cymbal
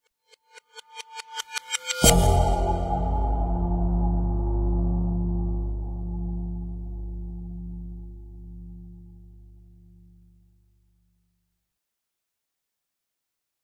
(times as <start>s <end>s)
1.6s 8.1s